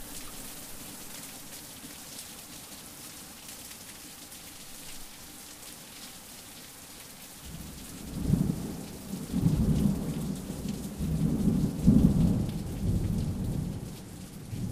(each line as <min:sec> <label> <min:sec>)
0:00.0 Heavy Rain 0:14.7
0:09.3 thunder 0:13.8